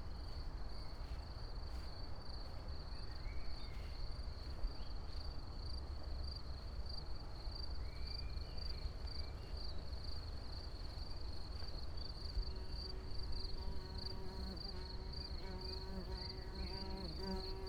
crickets 0:05.2 - 0:17.6
fly 0:12.3 - 0:17.6

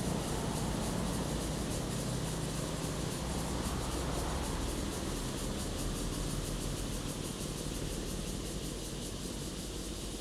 Cicadas sound 0:00.0 - 0:10.2

